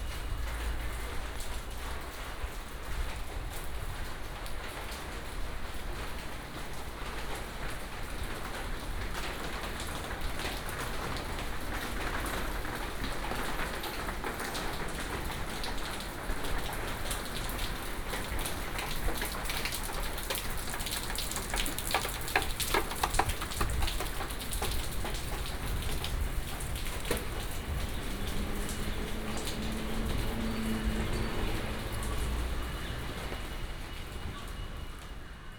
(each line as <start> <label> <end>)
0.0 Walking in the alley 35.5
8.2 Traffic sound 35.5
8.5 raindrop sound 35.1